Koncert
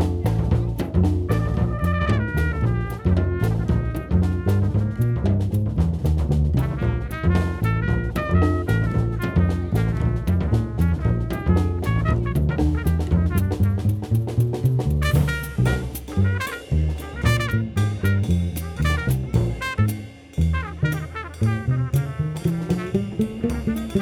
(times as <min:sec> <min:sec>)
0:13.1 0:24.0